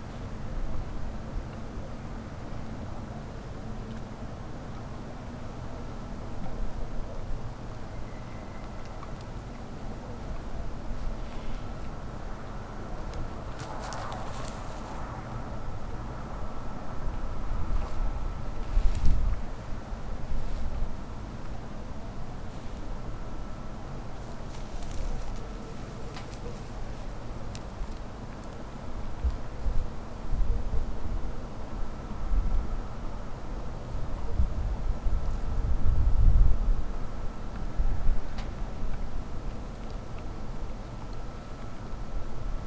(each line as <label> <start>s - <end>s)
slurping in the field 10.8s - 16.9s
wild boars churning in the ground 11.0s - 15.4s
treading dry bushes 13.1s - 15.3s
wild boars churning in the ground 23.9s - 27.8s
treading dry bushes 24.0s - 27.6s